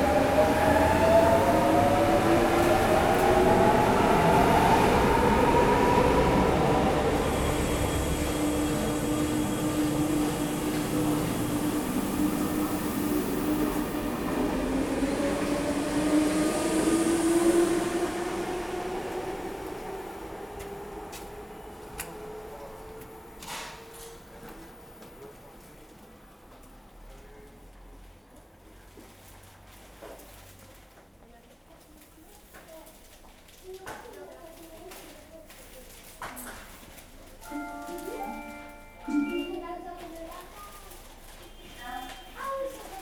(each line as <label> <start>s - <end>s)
Taking the train 0.0s - 43.0s